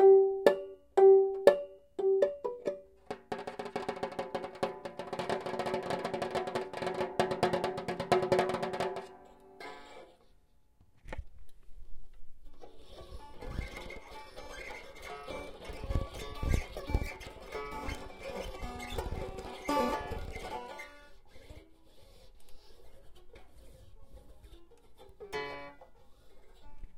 banjo being played erratically 0.0 - 10.4
banjo being played erratically 12.4 - 26.9

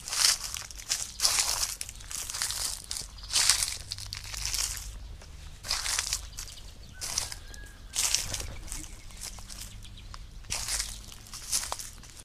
Stepping on dry leaves 0.0 - 12.2
rooster 6.9 - 9.0

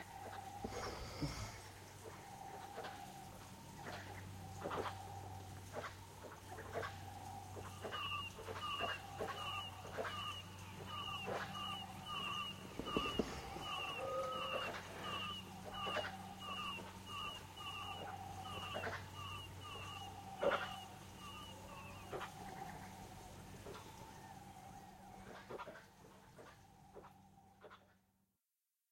owls 0.0 - 27.9
animals 0.0 - 28.1

